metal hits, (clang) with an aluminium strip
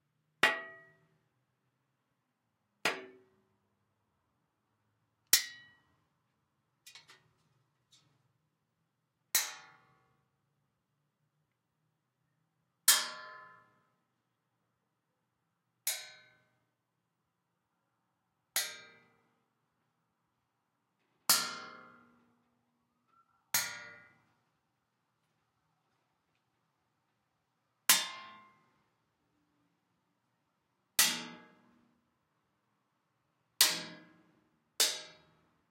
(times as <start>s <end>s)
0.4s 1.0s, 5.4s 5.8s, 9.4s 10.0s, 12.9s 13.7s, 15.9s 16.4s, 18.6s 19.1s, 21.3s 22.2s, 23.6s 24.2s, 27.9s 28.6s, 31.0s 31.8s, 33.6s 35.4s